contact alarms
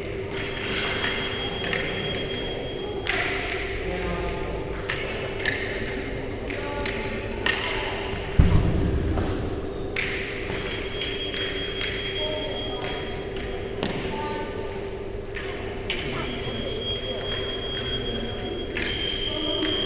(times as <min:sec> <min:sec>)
0:01.0 0:03.1, 0:10.6 0:13.4, 0:16.1 0:19.8